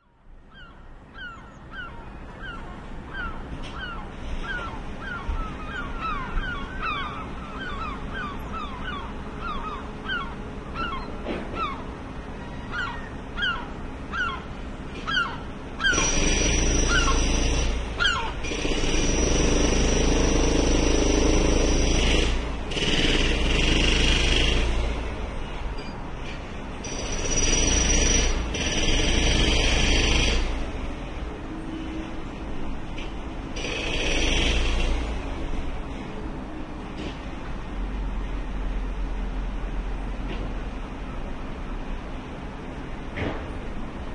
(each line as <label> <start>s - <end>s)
Builders at work on a house 13.1s - 44.1s